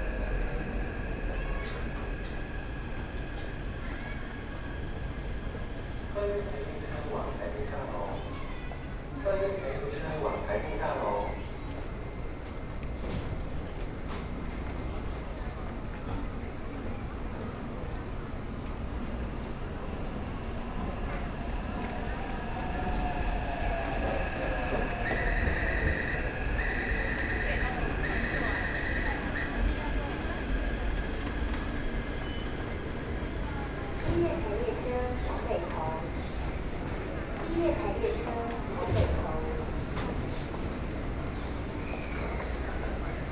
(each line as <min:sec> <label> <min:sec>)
0:00.0 train 0:43.3